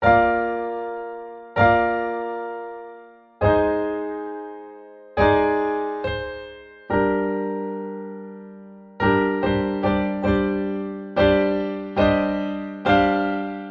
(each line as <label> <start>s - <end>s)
Piano Solo 0.0s - 13.7s